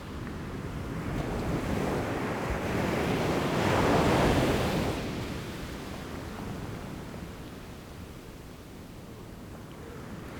Peacefull waves during the high tide 0.0 - 10.3

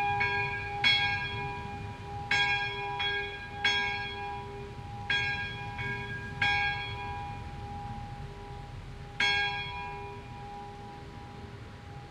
bells 0.0 - 12.1
windy 0.0 - 12.1

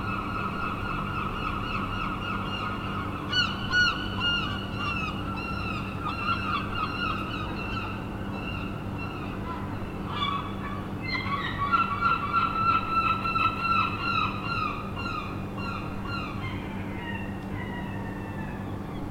Seagulls 0.0 - 19.1

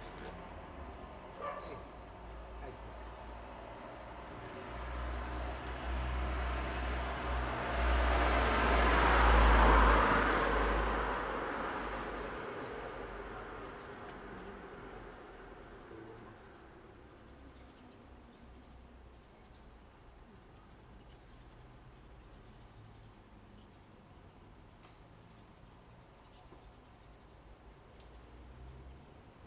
pedestrians walking 0.0 - 22.5
Cars passing by 0.0 - 29.4
dogs barking 1.3 - 2.0

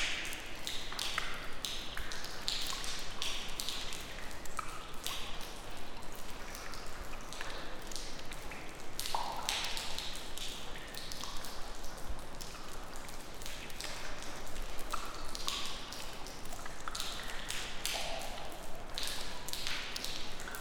Raindrops from leaking roof 0.0 - 20.6

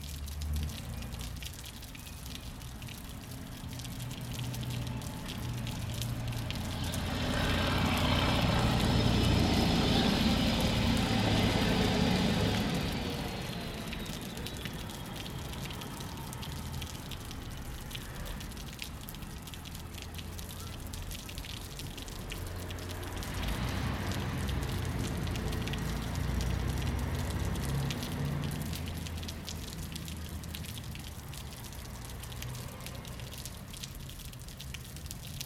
Water dripping from the upper half to the lower 0.0 - 35.4
buses that past the square 3.7 - 17.7

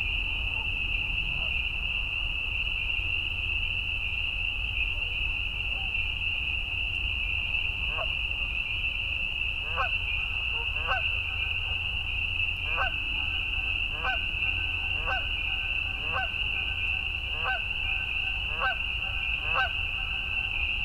Canada Geese 7.9 - 8.2
Canada Geese 9.6 - 11.8
Canada Geese 12.6 - 20.6

